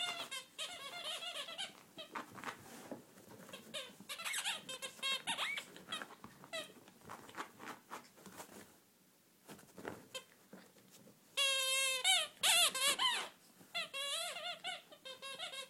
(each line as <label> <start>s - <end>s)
squeaky toys 0.0s - 2.1s
squeaky toys 3.5s - 6.8s
squeaky toys 11.4s - 15.6s